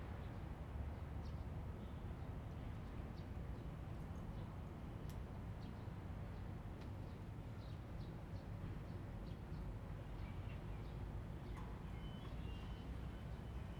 8.4s Sound from the railway station 13.7s

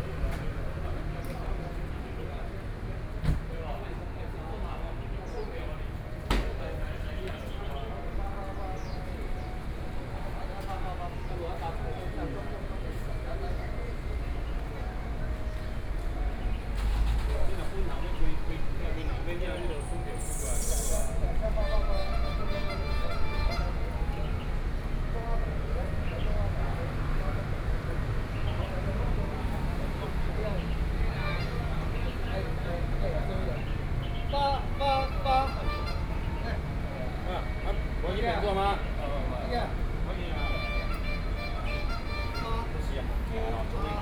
15.2s Garbage truck arrived 19.0s

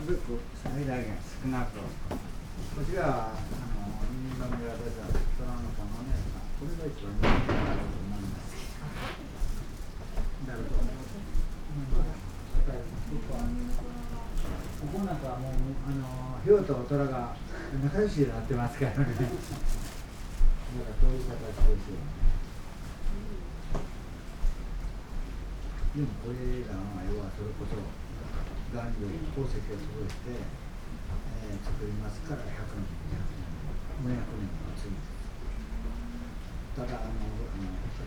0.0s people 9.4s
10.4s people 19.9s

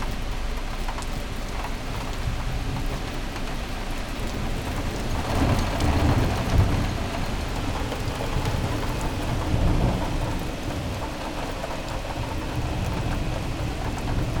0.0s rain 14.4s
4.2s thunder 14.4s

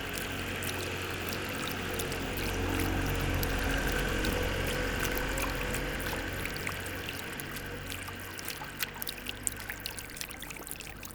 0.0s fountains 11.1s

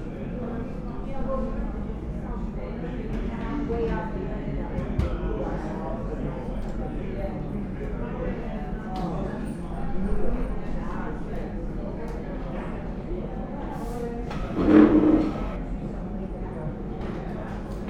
14.6s road works 15.6s

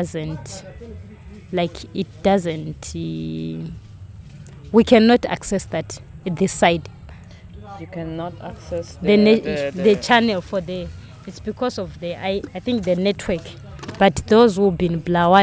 0.0s interview 15.4s

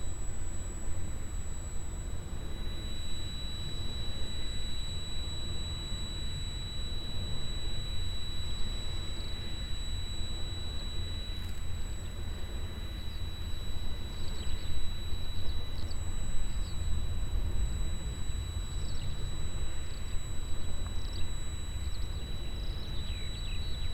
0.0s steady sound of a inside generator 23.9s
0.0s Un avion à moteur traverse le ciel 23.9s

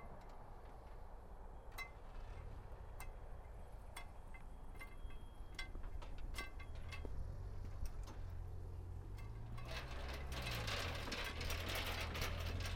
4.0s opening of the gates 12.7s

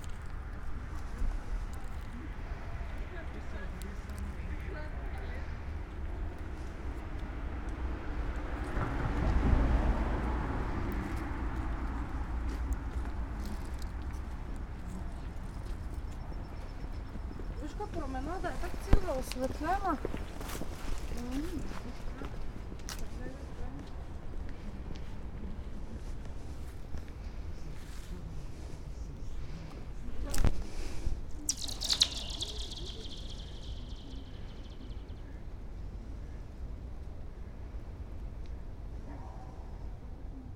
0.0s passers-by chatting 8.5s
0.0s cars passing 14.8s
12.0s passers-by chatting 35.6s

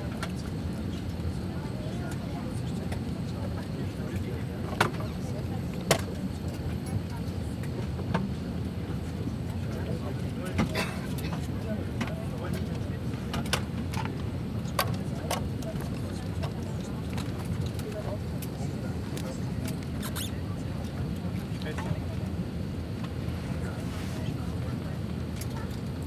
0.0s passengers boarding the plane 26.0s
0.0s flight announcements 26.0s

